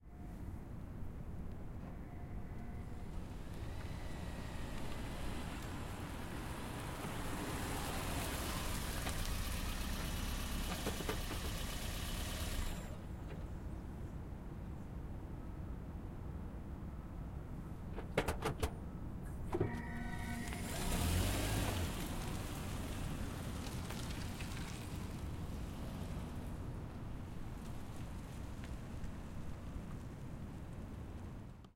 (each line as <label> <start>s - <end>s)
Prius In Stop Away w turn 1.5s - 13.5s
Prius In Stop Away w turn 19.3s - 26.6s